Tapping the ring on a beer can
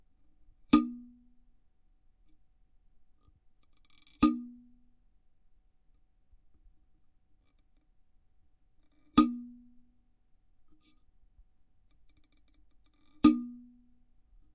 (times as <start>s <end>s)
0.7s 1.2s, 4.2s 4.7s, 9.1s 9.7s, 13.0s 13.8s